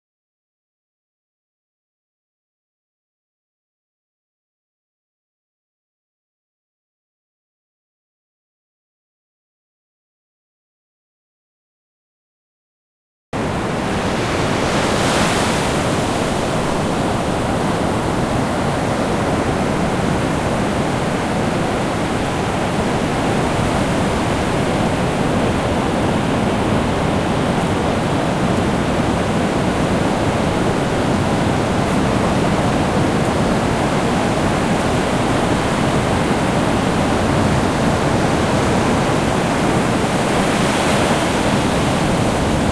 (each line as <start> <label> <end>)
13.4 waves 42.7
13.4 wind 42.7
13.4 steps of people walking in the shore 42.7